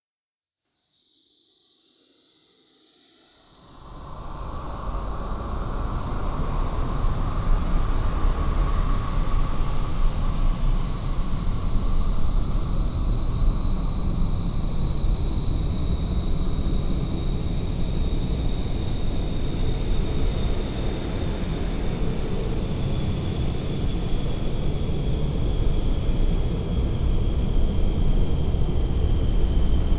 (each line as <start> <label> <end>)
2.9 wind 29.9